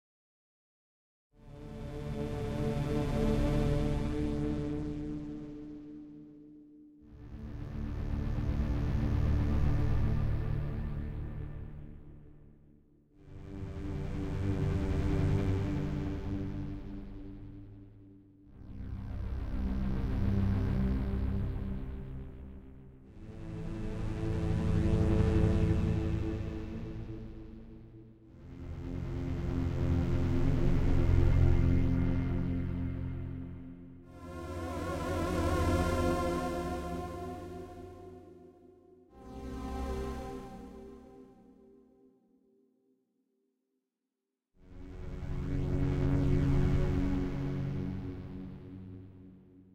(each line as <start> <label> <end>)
34.1 epic menacing tone 38.8